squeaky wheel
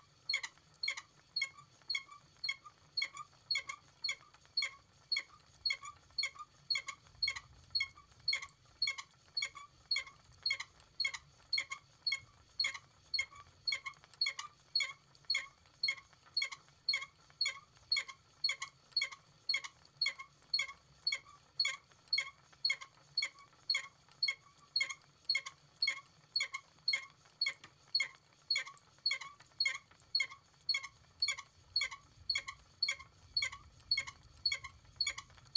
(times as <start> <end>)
24.2 35.5